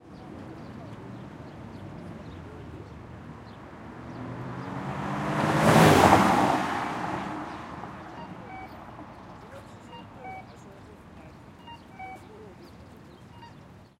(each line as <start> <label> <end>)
0.0 bus 13.9
0.0 traffic 13.9
0.0 voices 13.9
4.0 Car speeds through yellow light 7.9
7.2 Crossing signal 10.7
11.5 Crossing signal 12.5